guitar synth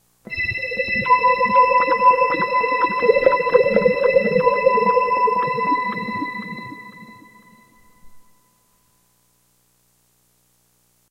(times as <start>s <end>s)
0.3s 8.4s